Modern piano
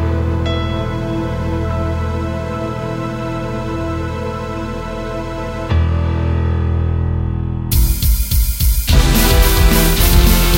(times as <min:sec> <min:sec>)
0:00.0 0:08.0